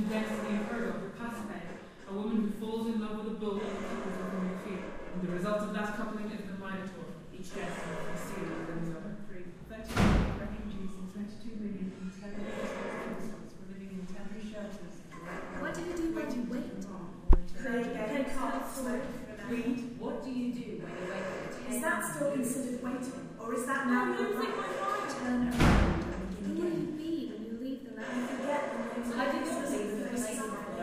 chatter 10.8 - 30.8

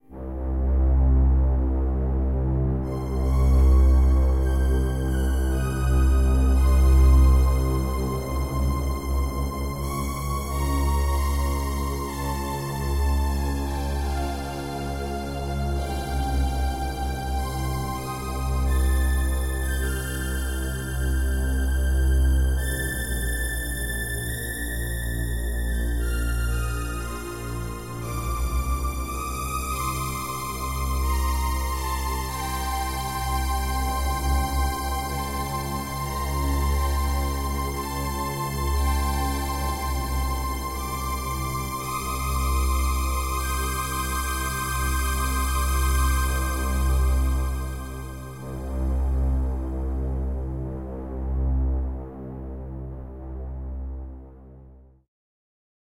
strings 0.0 - 53.5

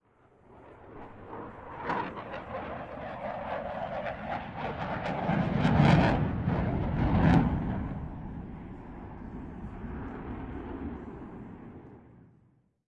Eurofighter Typhoon Flyby 0.1 - 12.2

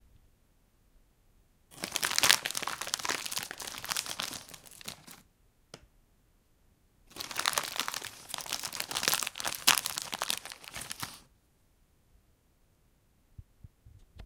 Plastic bag crinkle and crumple 1.7 - 5.2
Plastic bag crinkle and crumple 7.1 - 11.3

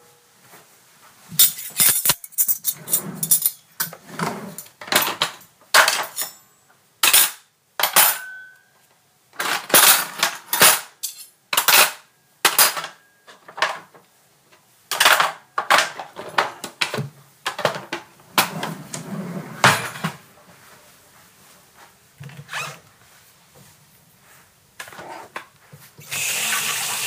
washing dishes 25.2 - 27.0

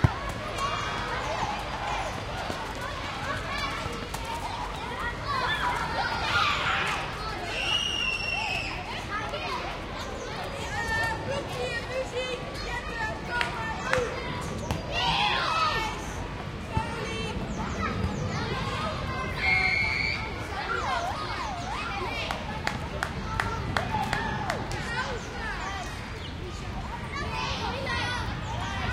children playing 0.0 - 28.9

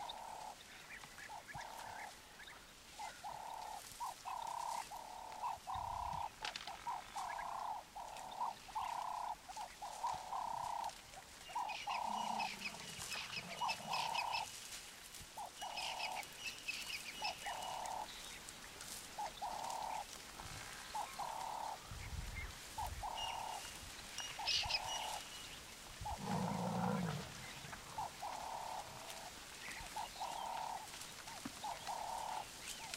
birds in background 0.0 - 32.9
buffaloes 7.1 - 21.8
buffaloes 22.8 - 32.9

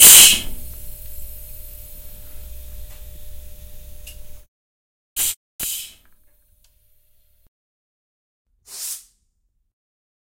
Air pressurising 0.0 - 0.7
Air pressurising 5.2 - 6.0

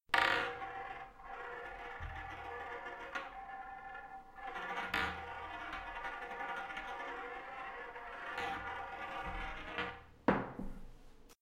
marble dropping onto a table 3.9 - 10.8

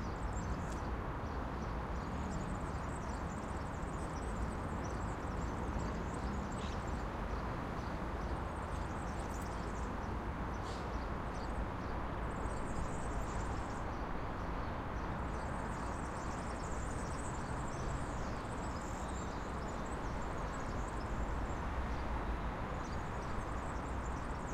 Traffic 0.1 - 24.5

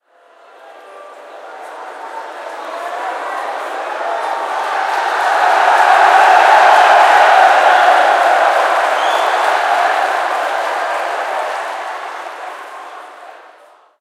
Crowd Cheering 0.0 - 14.0

